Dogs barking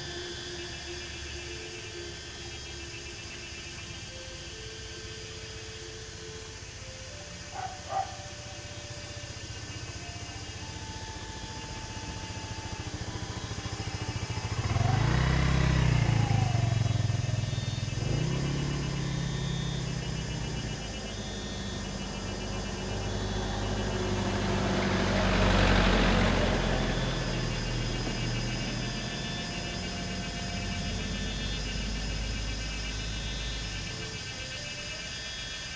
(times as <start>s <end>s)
7.5s 8.7s